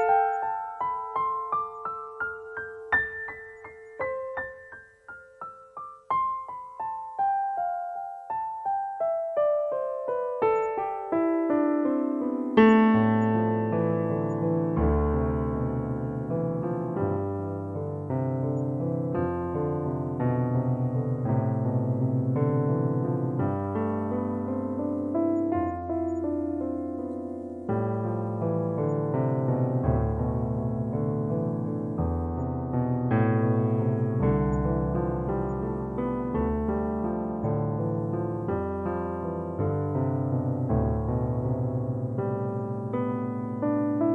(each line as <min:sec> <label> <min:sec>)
0:00.0 piano 0:44.1